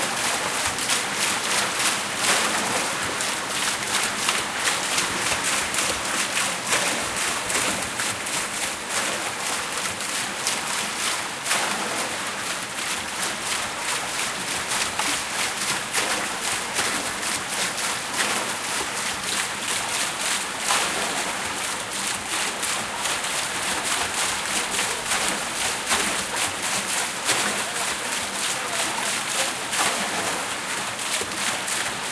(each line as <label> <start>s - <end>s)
water running into a wooden gutter 0.0s - 32.1s